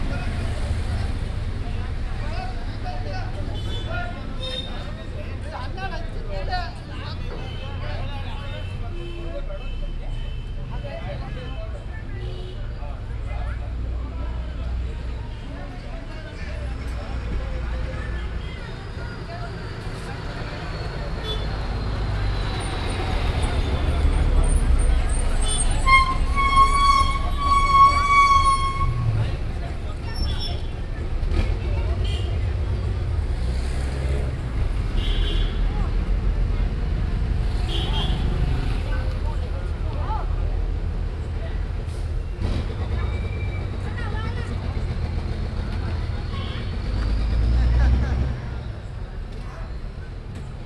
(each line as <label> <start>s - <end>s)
bus 0.0s - 50.6s
rickshaw 0.0s - 50.6s
road traffic 0.0s - 50.6s